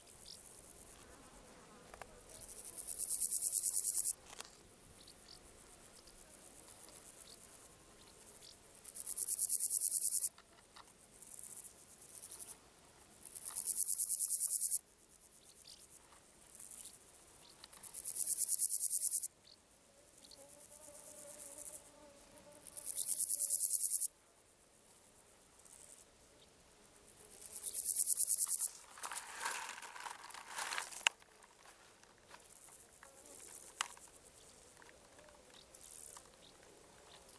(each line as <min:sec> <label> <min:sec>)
0:00.0 flies 0:10.3
0:26.9 flies 0:37.3
0:27.8 criquets 0:37.3